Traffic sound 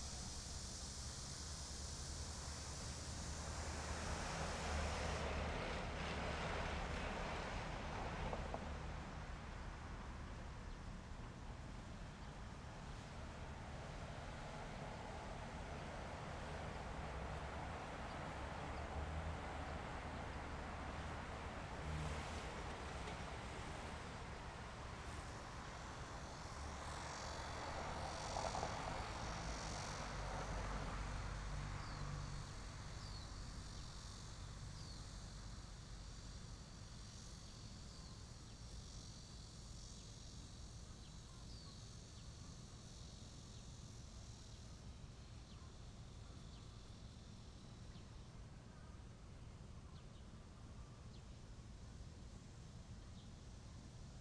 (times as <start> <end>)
0.0 37.9